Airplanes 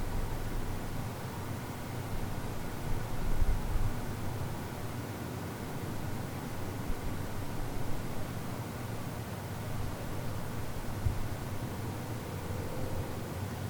9.9 13.6

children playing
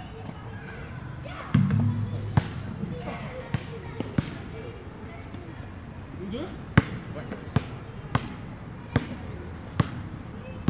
0.0 6.2

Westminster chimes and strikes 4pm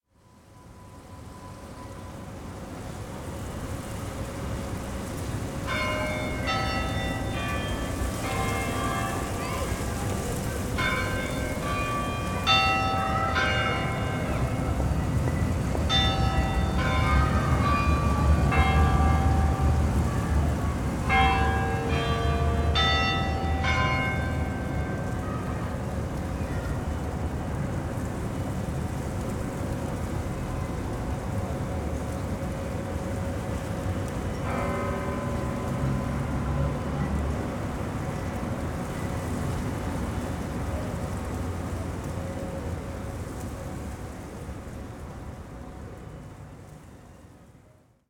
21.1 25.0

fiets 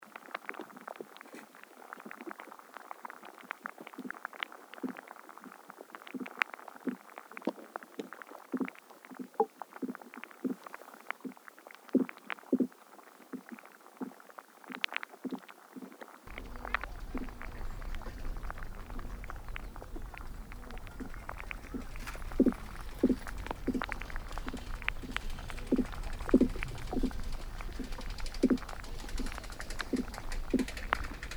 16.3 31.3

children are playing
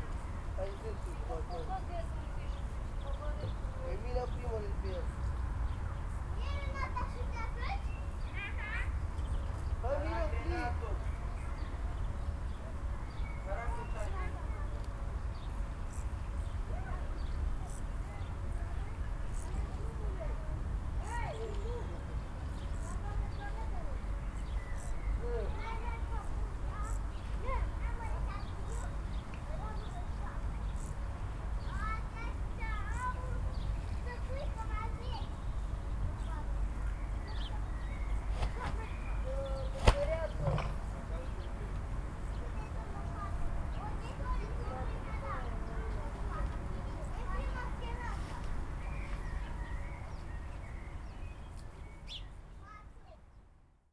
6.4 9.0, 42.4 50.1

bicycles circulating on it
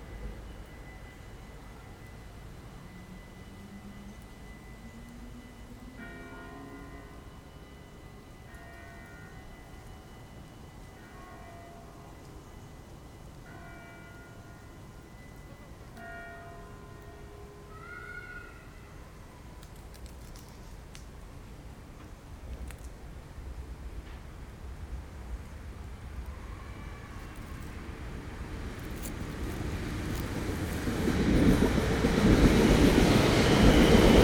0.0 17.6, 25.2 34.2

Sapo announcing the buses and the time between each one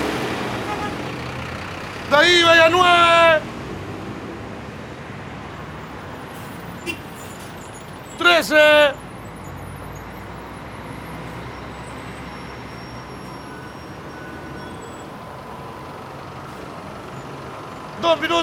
1.9 3.5, 8.1 9.1, 17.8 18.4

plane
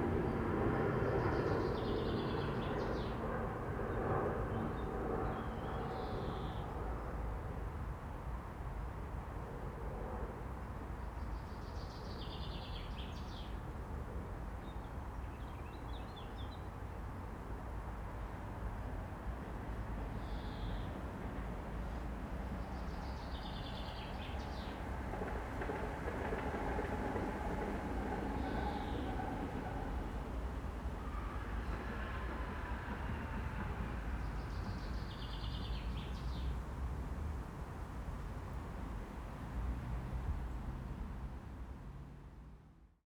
0.0 7.6

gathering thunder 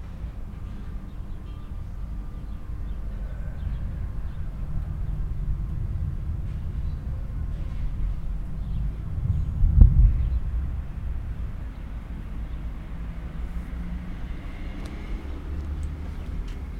3.8 12.5

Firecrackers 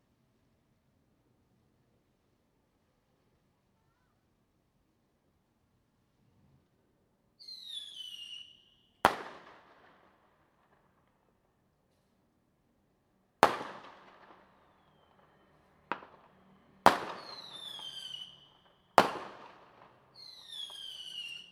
7.4 12.0, 13.4 21.5

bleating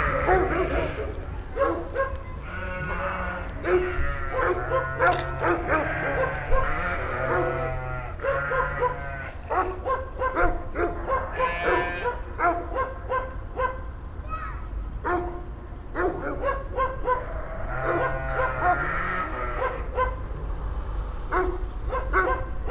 0.0 1.2, 2.4 9.4, 11.3 12.2, 17.2 19.8

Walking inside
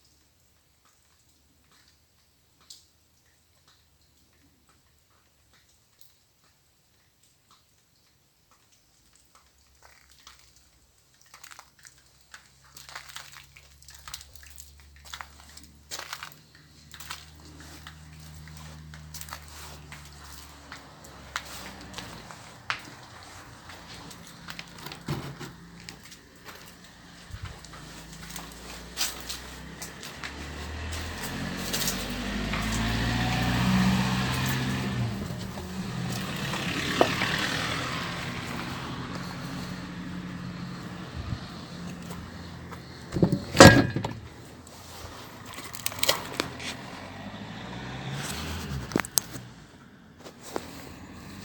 14.1 46.7

